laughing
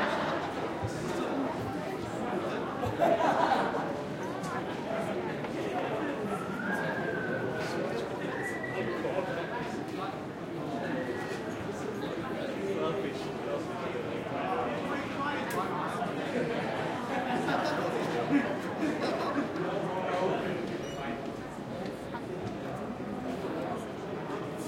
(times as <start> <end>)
17.3 19.6